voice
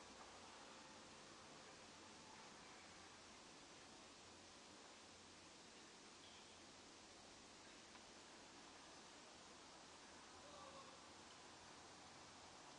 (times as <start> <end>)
10.4 11.0